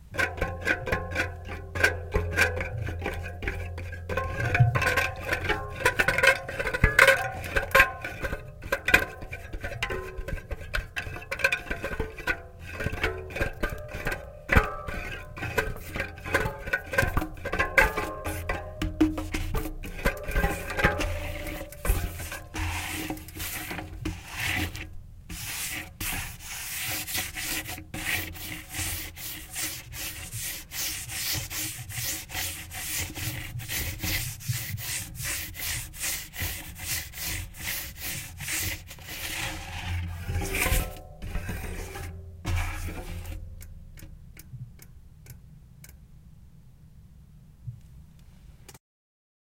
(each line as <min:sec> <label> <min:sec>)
0:00.0 Messy Fingerpads on Tire Spokes 0:46.0